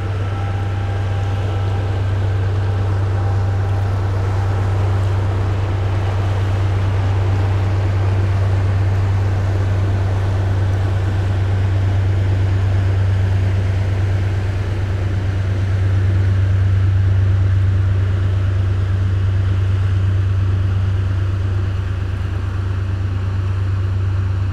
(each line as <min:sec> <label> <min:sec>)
0:00.0 barges driving on the canal 0:24.5